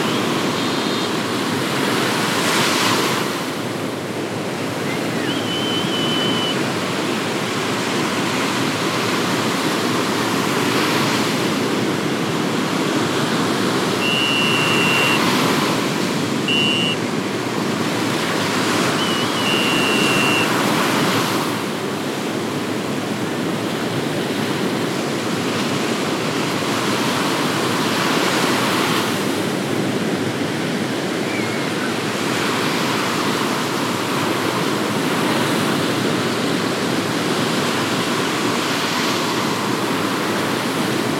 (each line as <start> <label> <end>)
0.0 Large waves crashing 41.1
0.0 Windy Beach 41.1
0.0 lifeguard warning whistles 1.1
4.8 lifeguard warning whistles 6.6
14.0 lifeguard warning whistles 15.6
16.4 lifeguard warning whistles 17.1
18.8 lifeguard warning whistles 20.7
31.2 lifeguard warning whistles 32.0